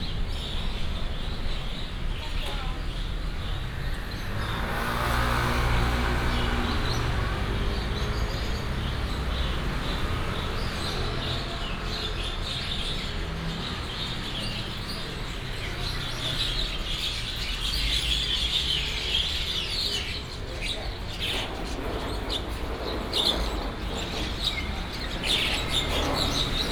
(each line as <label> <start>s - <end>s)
Traffic sound 0.0s - 26.7s